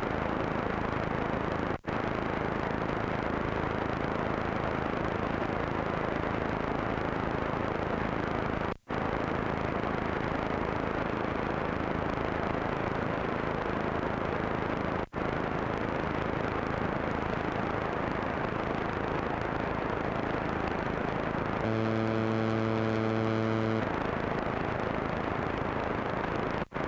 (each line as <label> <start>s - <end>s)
Searching radio stations 21.6s - 24.0s